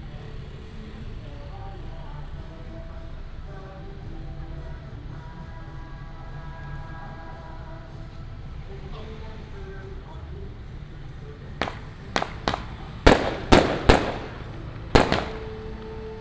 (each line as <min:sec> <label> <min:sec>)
0:08.3 Firecrackers 0:16.2
0:09.0 fireworks 0:16.2